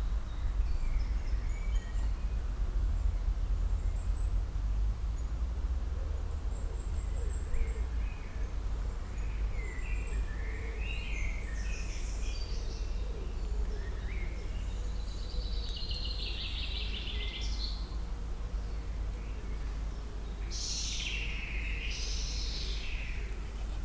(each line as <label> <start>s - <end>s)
Bird noise 0.0s - 23.8s
distant traffic rumble 0.0s - 23.8s